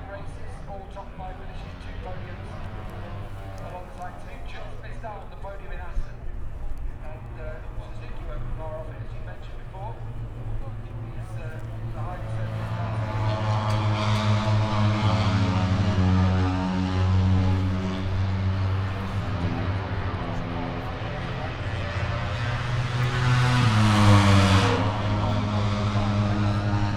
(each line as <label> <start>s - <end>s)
motorcycle grand prix 0.0s - 26.9s